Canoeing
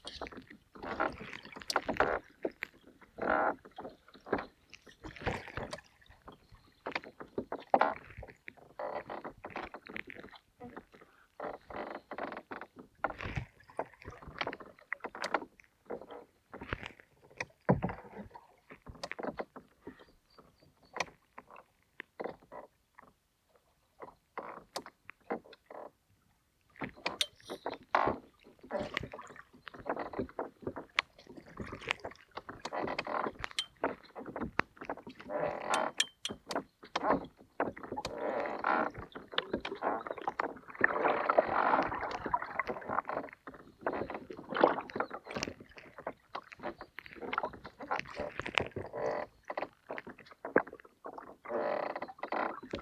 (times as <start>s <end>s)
26.8s 52.8s